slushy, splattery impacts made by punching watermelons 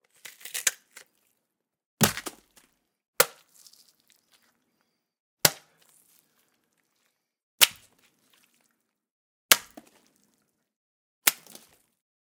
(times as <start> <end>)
2.0 2.6, 7.6 8.1, 9.5 10.1, 11.2 11.8